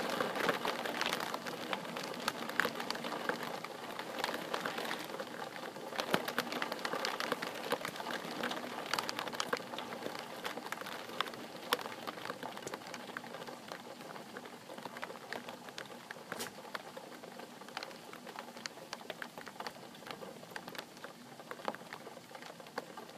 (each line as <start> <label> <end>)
0.0 rain on window 23.1